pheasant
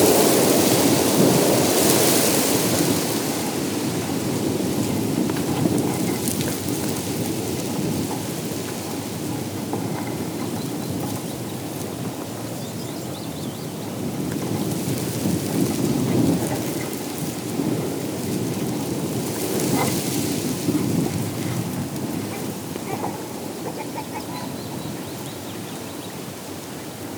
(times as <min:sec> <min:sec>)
0:22.2 0:26.2